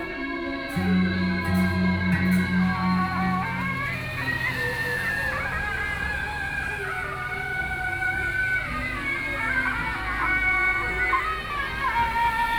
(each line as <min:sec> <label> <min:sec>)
0:00.0 Traffic Sound 0:12.5